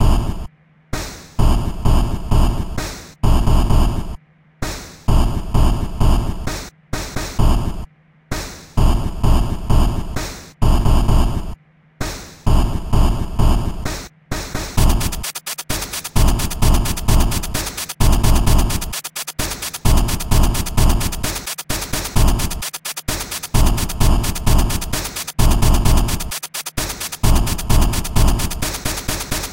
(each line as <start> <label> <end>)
0.0 Old drumsoudns 29.5